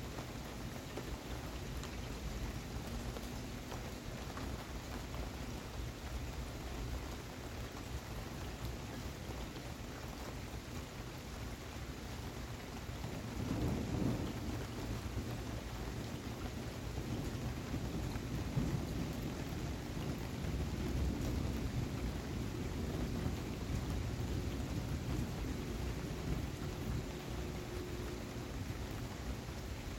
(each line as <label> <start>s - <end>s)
Heavy rain 0.0s - 29.9s
Rumbling Thunder 13.1s - 29.9s